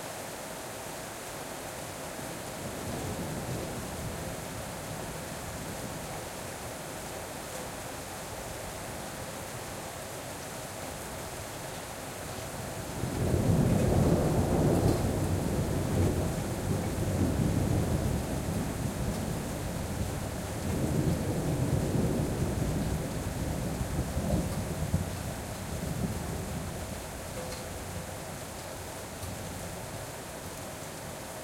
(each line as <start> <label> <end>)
0.0 heavy rain 31.4
13.1 thunder 25.2